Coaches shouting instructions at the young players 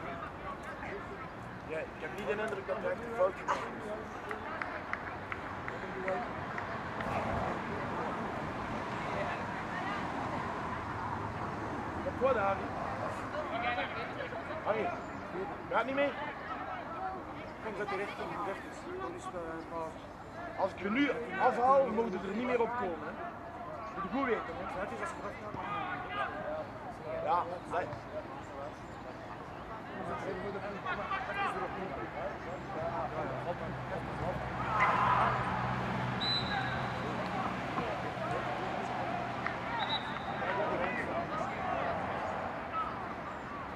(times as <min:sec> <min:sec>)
0:12.0 0:43.2